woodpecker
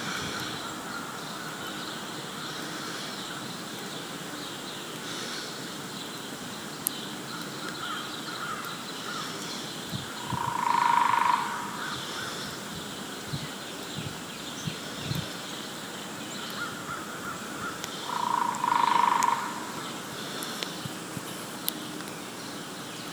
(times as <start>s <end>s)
6.8s 12.6s, 16.4s 20.8s